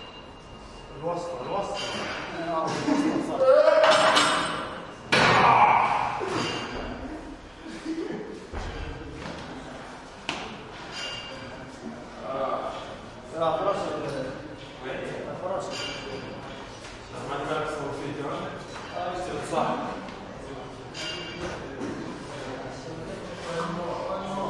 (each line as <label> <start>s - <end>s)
guys working out 1.4s - 9.6s
weights clang 6.2s - 7.0s